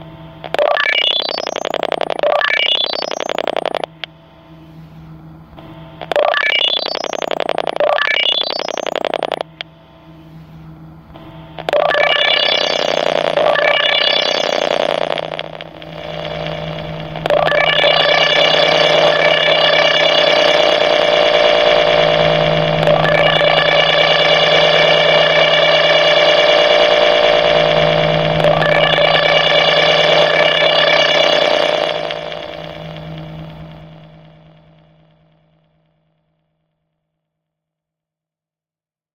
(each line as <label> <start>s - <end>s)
tones from testing a line 0.5s - 3.9s
tones from testing a line 6.0s - 9.5s
tones from testing a line 11.6s - 34.9s